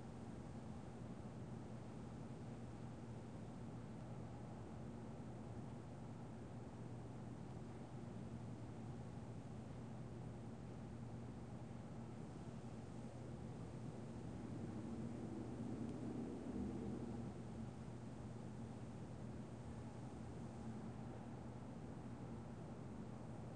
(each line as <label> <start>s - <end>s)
hum 12.1s - 23.5s